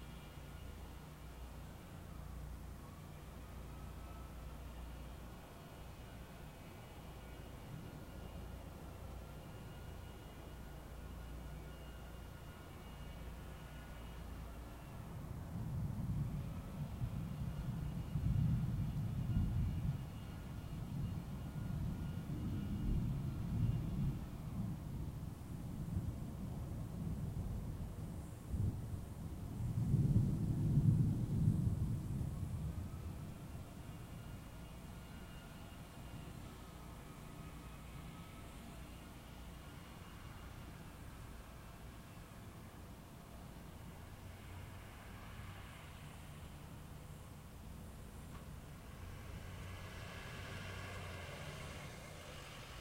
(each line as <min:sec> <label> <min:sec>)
0:29.6 Thunder 0:33.1